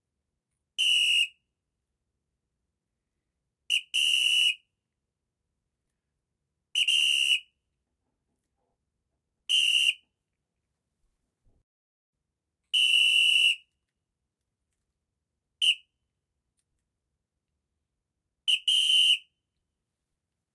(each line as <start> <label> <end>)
0.8 Metal whistle 1.5
3.7 Metal whistle 4.7
6.8 Metal whistle 7.6
9.5 Metal whistle 10.2
12.7 Metal whistle 13.8
15.6 Metal whistle 16.0
18.5 Metal whistle 19.4